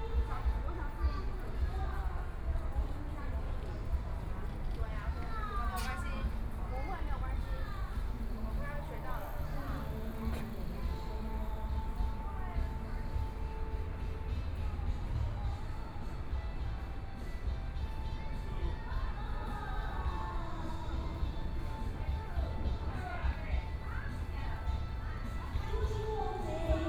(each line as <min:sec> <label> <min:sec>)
0:00.0 women chatting 0:16.4
0:05.1 singing 0:16.6
0:18.1 women chatting 0:26.8
0:18.3 singing 0:26.8